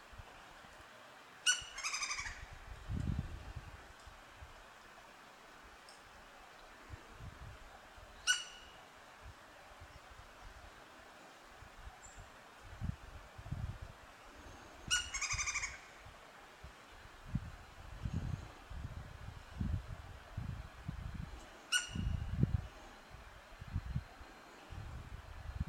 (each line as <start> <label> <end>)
1.4 woodpecker vocalization 2.5
8.2 woodpecker vocalization 8.8
14.9 woodpecker vocalization 16.0
21.7 woodpecker vocalization 22.1